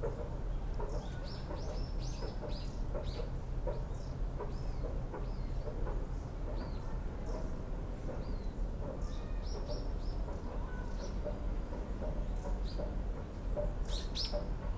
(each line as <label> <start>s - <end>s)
Houhokekyo songbirds 0.0s - 14.7s
construction can be heard in the distance 0.0s - 14.7s